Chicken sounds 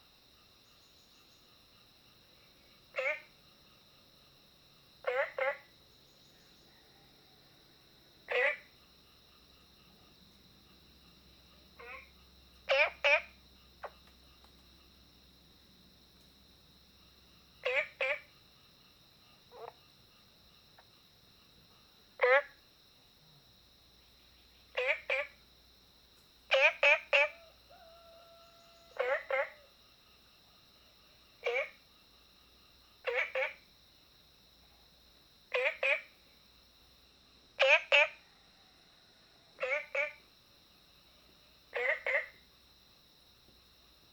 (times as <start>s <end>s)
27.2s 29.7s